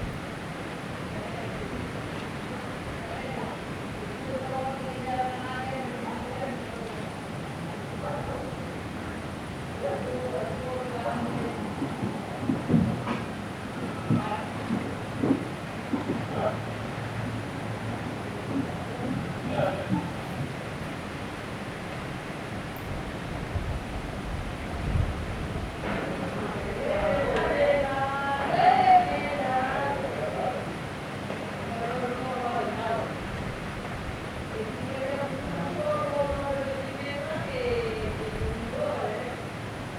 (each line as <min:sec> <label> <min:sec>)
0:00.0 viento agita las hojas de los árboles 0:39.9
0:26.1 reloj de la iglesia marca la medianoche 0:33.2